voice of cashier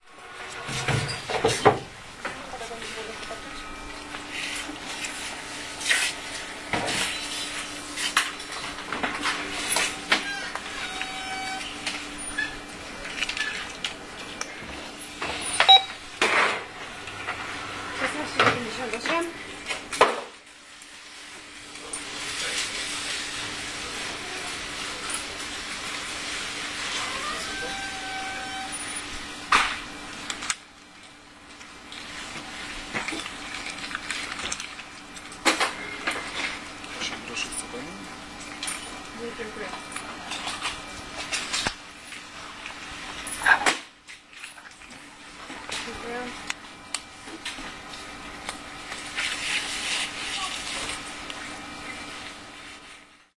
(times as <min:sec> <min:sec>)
0:02.3 0:03.8, 0:17.9 0:19.5, 0:36.9 0:38.2, 0:39.1 0:40.1, 0:45.4 0:46.5, 0:50.1 0:51.1